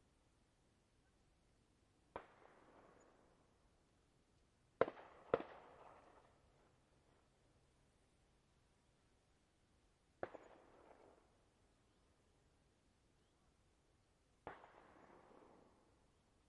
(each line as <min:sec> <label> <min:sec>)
0:02.1 distant army training gunfire with echo 0:03.5
0:04.8 distant army training gunfire with echo 0:06.5
0:10.2 distant army training gunfire with echo 0:11.4
0:14.4 distant army training gunfire with echo 0:16.0